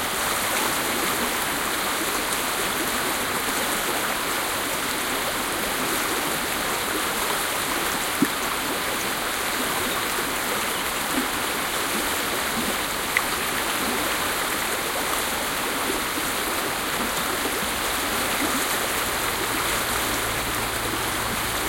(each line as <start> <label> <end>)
0.0 pure mountain stream 21.6